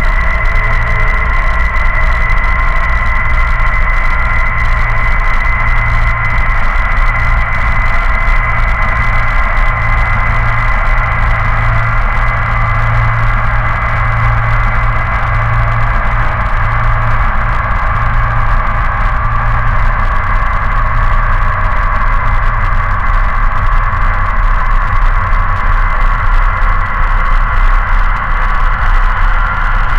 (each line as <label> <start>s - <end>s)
static 0.0s - 29.9s